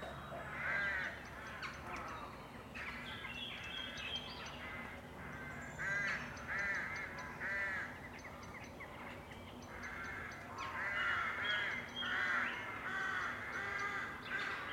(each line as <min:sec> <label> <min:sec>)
0:00.4 Crows 0:03.3
0:04.4 other birds squawking 0:08.1
0:04.5 Crows 0:08.0
0:09.7 other birds squawking 0:14.7
0:09.7 Crows 0:14.7